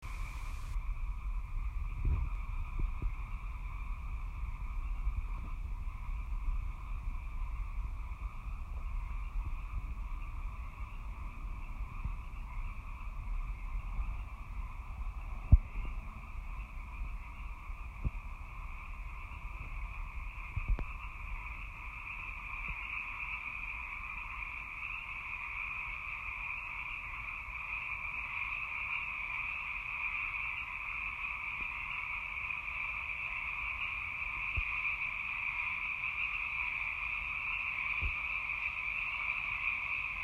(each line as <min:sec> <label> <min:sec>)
0:00.0 chorus of frogs 0:40.2